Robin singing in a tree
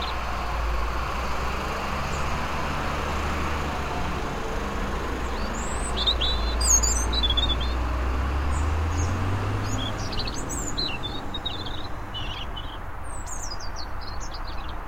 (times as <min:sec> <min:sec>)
0:00.0 0:00.8, 0:04.4 0:14.8